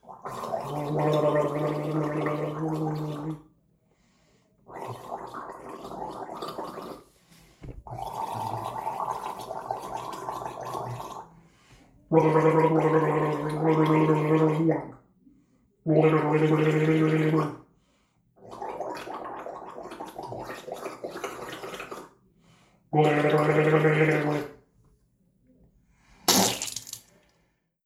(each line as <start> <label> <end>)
0.0 Gargling 3.4
0.0 spitting in the sink 3.5
4.6 spitting in the sink 15.0
4.7 Gargling 11.3
12.1 Gargling 15.0
15.9 Gargling 17.6
15.9 spitting in the sink 17.6
18.4 spitting in the sink 22.2
18.4 Gargling 22.2
23.0 Gargling 24.6
23.0 spitting in the sink 24.6
26.2 spitting in the sink 27.2